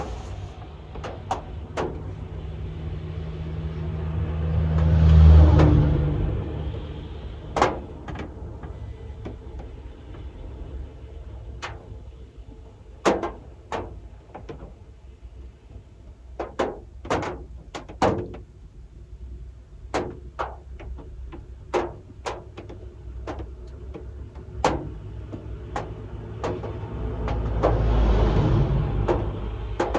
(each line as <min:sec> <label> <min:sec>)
0:00.0 various traffic 0:16.1
0:00.0 big raindrops clattering on the roof of the car 0:29.9
0:21.0 various traffic 0:29.9